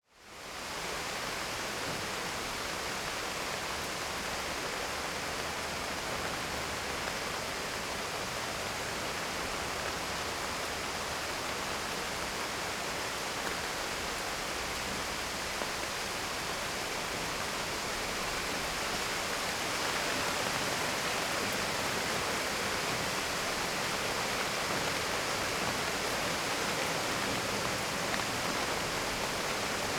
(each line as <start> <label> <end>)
0.1 Summer Rain On Balcony 29.9